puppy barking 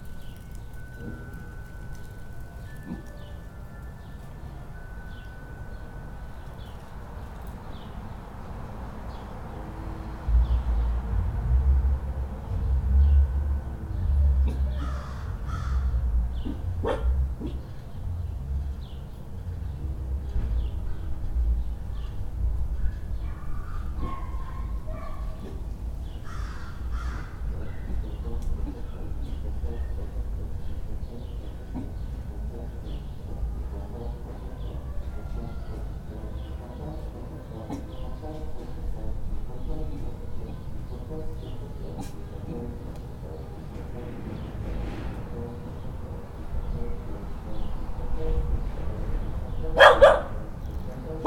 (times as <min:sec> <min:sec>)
0:16.4 0:17.6, 0:23.3 0:25.6, 0:49.8 0:50.4